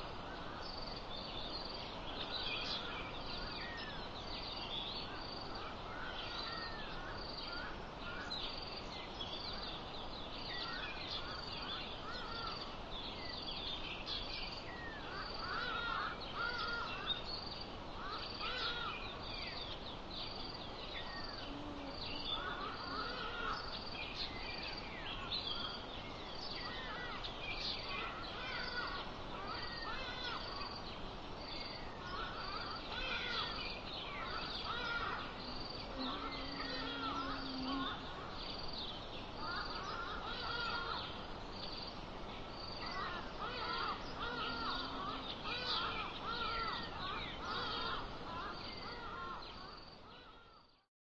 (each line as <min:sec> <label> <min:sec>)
0:00.0 Hadeda Bird 0:50.8
0:00.0 insects 0:50.9